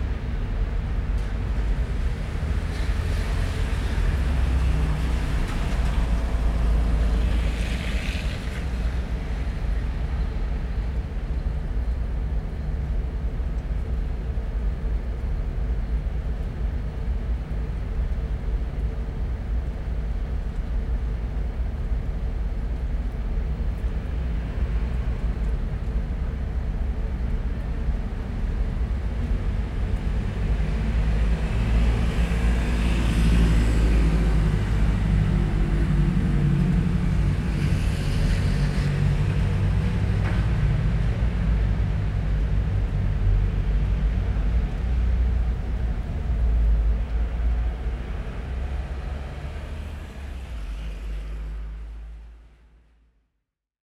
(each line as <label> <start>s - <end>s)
City centre hum 0.0s - 53.0s